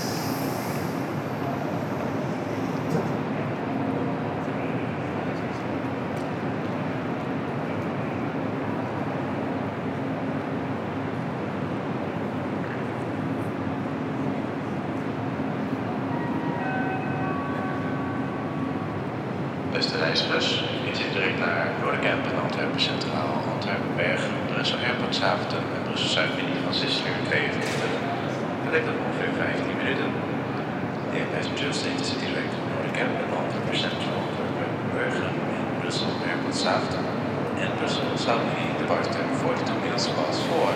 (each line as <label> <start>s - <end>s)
passing trains 0.0s - 40.7s
endless announcements 19.7s - 28.0s
people talking 19.7s - 30.2s
endless announcements 31.1s - 40.7s
people talking 31.1s - 40.7s